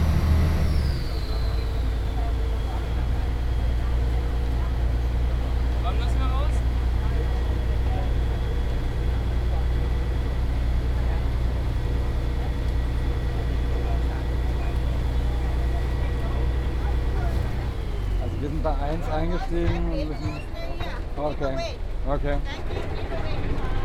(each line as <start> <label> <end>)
0.0 the motor 20.0
0.6 people 23.8
0.7 occasional whistling 2.3
20.1 occasional whistling 21.0